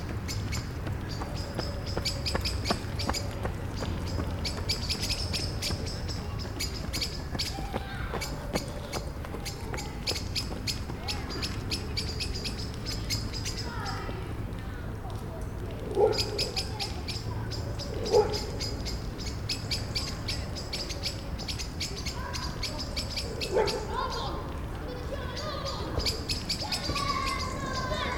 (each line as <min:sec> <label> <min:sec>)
0:00.0 ranting blackbirds 0:14.1
0:00.0 children 0:28.1
0:15.8 ranting blackbirds 0:28.1
0:15.8 dogs 0:16.7
0:17.6 dogs 0:18.6
0:23.4 dogs 0:23.9